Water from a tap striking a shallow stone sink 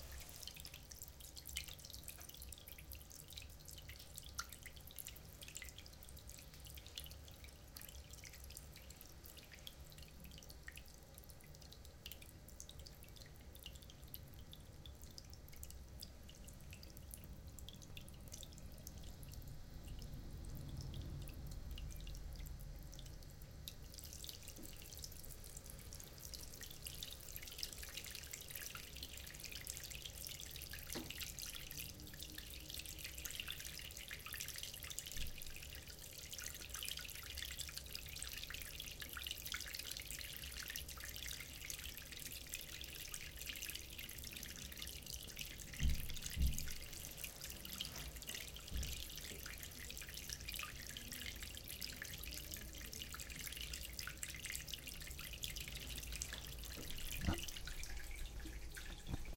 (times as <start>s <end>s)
24.0s 31.8s, 45.4s 50.5s, 55.4s 59.3s